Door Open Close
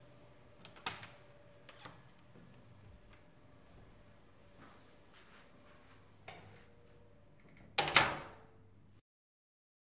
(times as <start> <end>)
7.4 8.4